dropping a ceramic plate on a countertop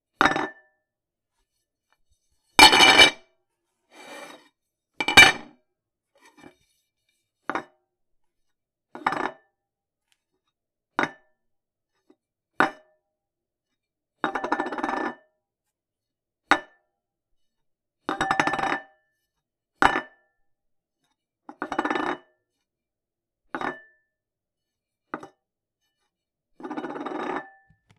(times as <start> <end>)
2.6 3.2, 5.0 5.5